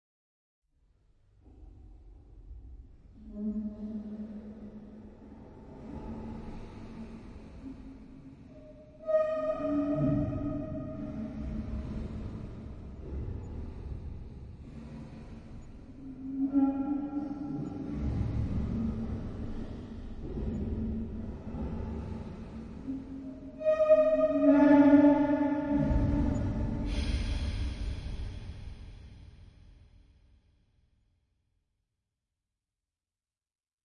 drone 0:03.3 - 0:29.0

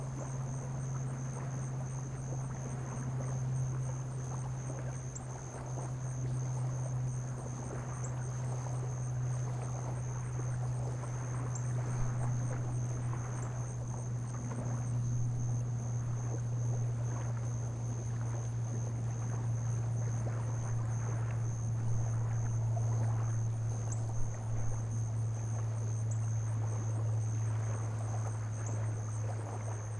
crickets 0:00.0 - 0:29.9
small waves 0:00.0 - 0:29.9
wind 0:00.0 - 0:29.9

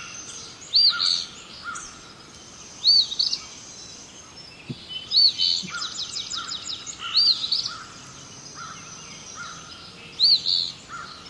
crow 0:00.8 - 0:02.0
crow 0:05.6 - 0:09.8
crow 0:10.9 - 0:11.2

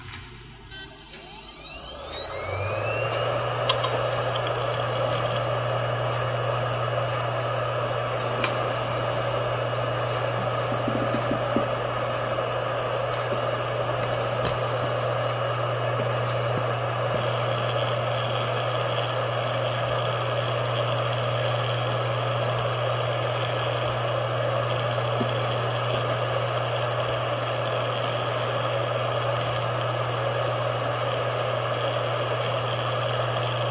hard drive 0:00.7 - 0:33.7

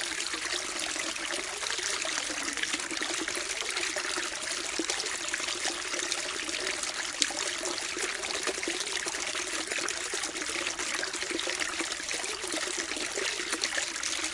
overflow of a large fishtank 0:00.0 - 0:14.3

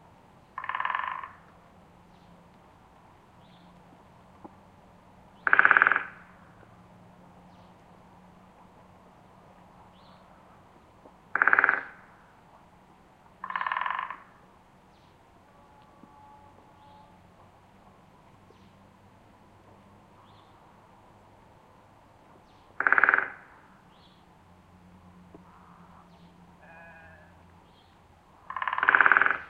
Woodpeckers drumming separate trees 0:00.0 - 0:29.4

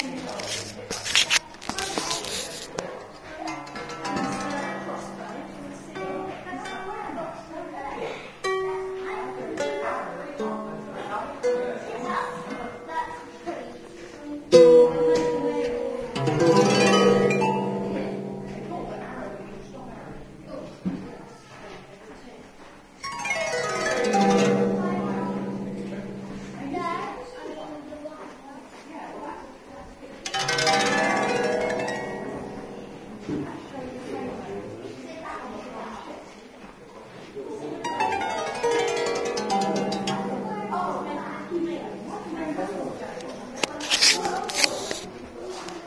quite a lot of people around 0:00.0 - 0:45.8
Psaltery 0:14.1 - 0:21.4
Psaltery 0:23.0 - 0:27.6
Psaltery 0:30.2 - 0:34.7
Psaltery 0:37.8 - 0:45.1

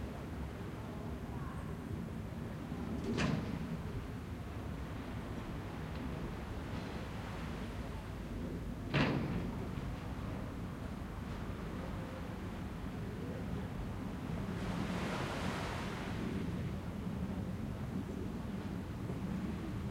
waves 0:00.0 - 0:19.9

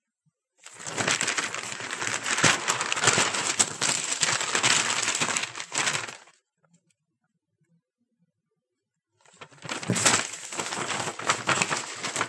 Leafing through papers and magazines quickly 0:00.6 - 0:06.3
Leafing through papers and magazines quickly 0:09.3 - 0:12.2

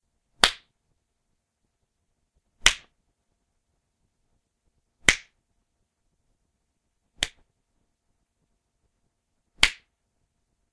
slaps 0:00.4 - 0:00.7
slaps 0:02.6 - 0:03.0
slaps 0:05.0 - 0:05.4
slaps 0:07.2 - 0:07.5
slaps 0:09.6 - 0:09.9

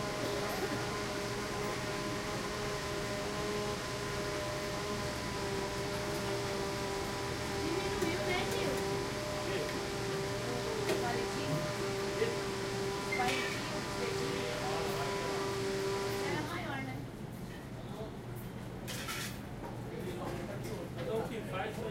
machines 0:00.0 - 0:16.7

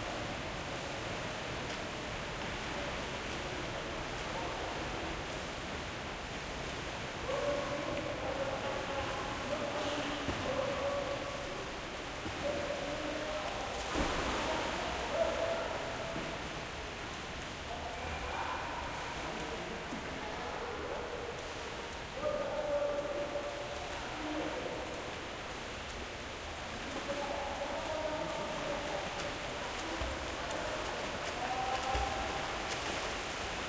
swimming 0:00.0 - 0:33.6
splashing 0:07.0 - 0:33.6

